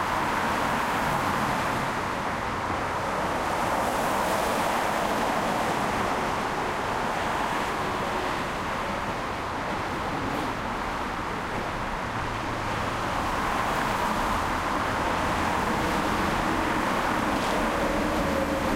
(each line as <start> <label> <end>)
0.0 Traffic on freeway 18.7